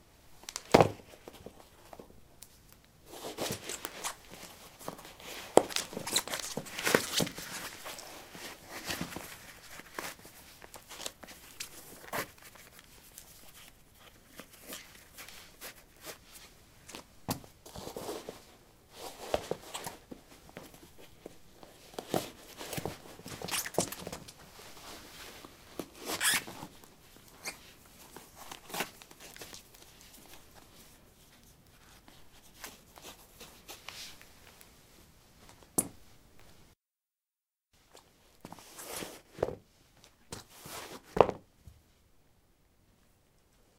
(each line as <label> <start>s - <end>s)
Putting squeaky sport shoes on/off on concrete 5.6s - 7.4s
Putting squeaky sport shoes on/off on concrete 26.0s - 26.7s